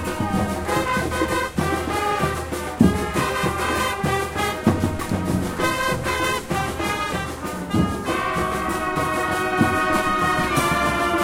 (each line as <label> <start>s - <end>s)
Brass Ensemble playing 0.0s - 11.2s
percusión 0.0s - 11.2s